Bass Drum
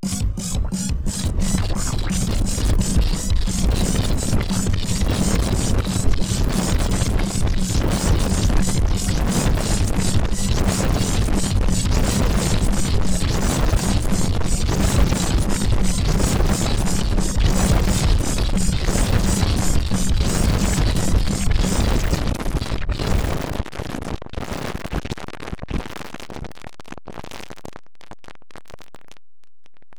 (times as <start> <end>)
0.0 22.4